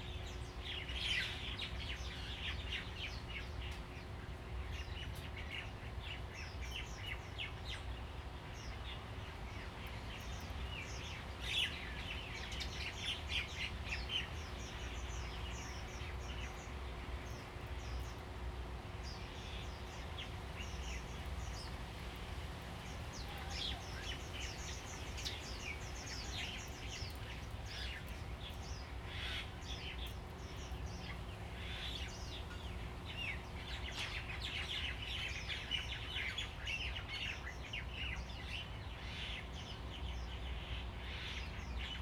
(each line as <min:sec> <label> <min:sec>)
0:19.0 Birds singing 0:42.0